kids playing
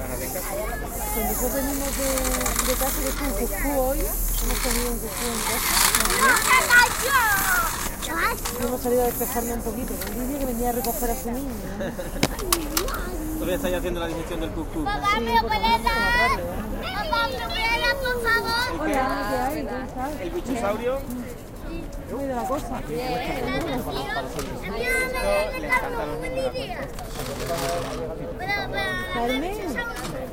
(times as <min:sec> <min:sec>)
0:00.0 0:13.8, 0:14.8 0:19.6, 0:23.0 0:27.7